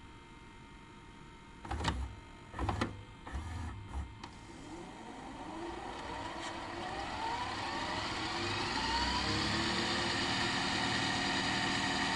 DVD Recorder VCR Combo 0:01.6 - 0:12.1
rewind 0:02.6 - 0:12.1

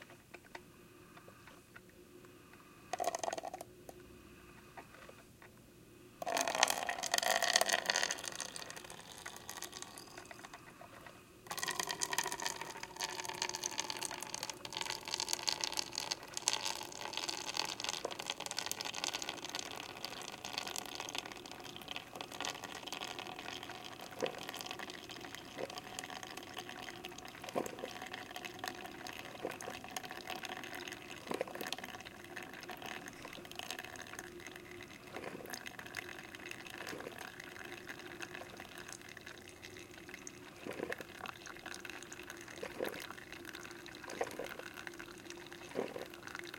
drips pouring into plastic cup 0:02.9 - 0:03.6
drips pouring into plastic cup 0:06.2 - 0:10.8
drips pouring into plastic cup 0:11.5 - 0:46.5

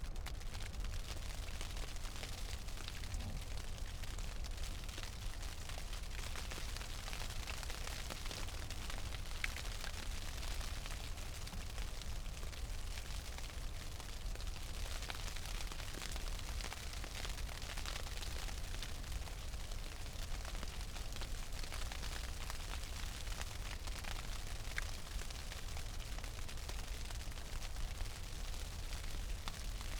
Hail and Snow on Tent 0:00.1 - 0:29.9

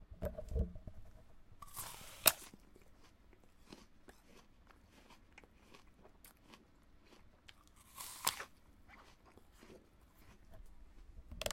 Chewing 0:01.6 - 0:11.5
biting a green granny smith apple 0:01.6 - 0:11.5

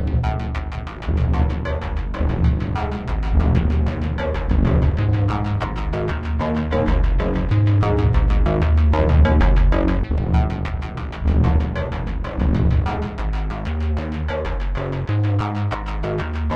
beat 0:00.0 - 0:16.5

